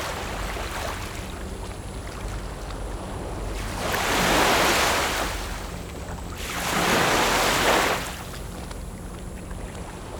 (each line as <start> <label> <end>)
0.0 waves 10.1